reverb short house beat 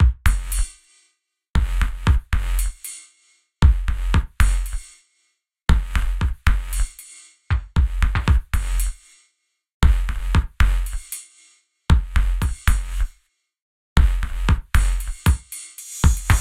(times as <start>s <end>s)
16.0s 16.4s